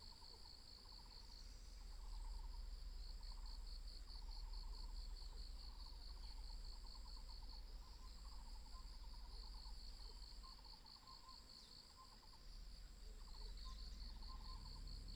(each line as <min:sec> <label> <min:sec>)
0:00.0 Insects sounds 0:15.1